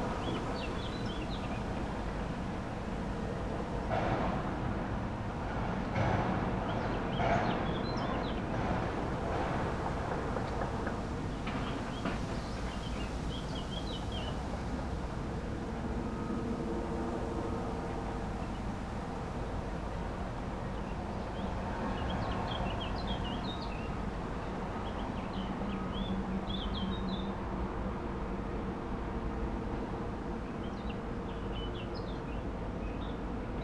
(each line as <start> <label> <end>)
0.0 fresh wind in trees 33.6